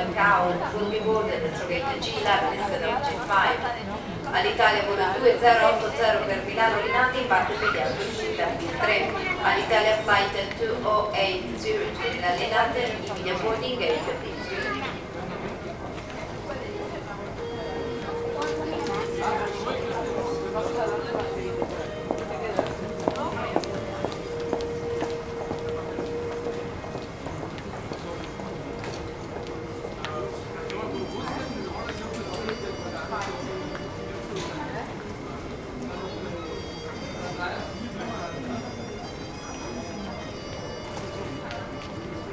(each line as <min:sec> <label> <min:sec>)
0:00.0 flight announcement 0:42.3
0:00.0 passangers walking by 0:42.3
0:10.9 music from restaurant 0:42.3
0:18.0 footsteps 0:33.4